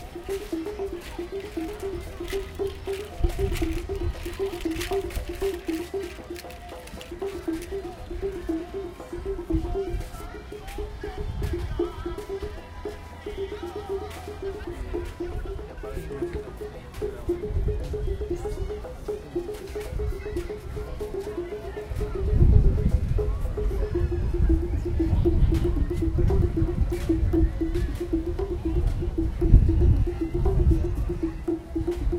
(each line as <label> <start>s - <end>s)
percussion textures 0.0s - 32.1s
windy 0.0s - 32.1s